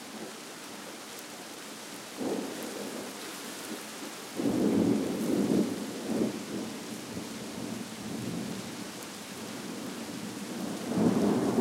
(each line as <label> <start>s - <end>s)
Trees swaying in wind 0.0s - 11.6s
rain splashing 0.0s - 11.6s
progressively louder sequences of thunder 10.8s - 11.6s